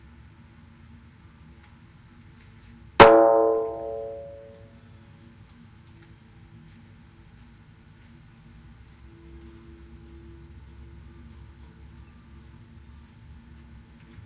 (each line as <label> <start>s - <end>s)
tire percussion 3.0s - 4.7s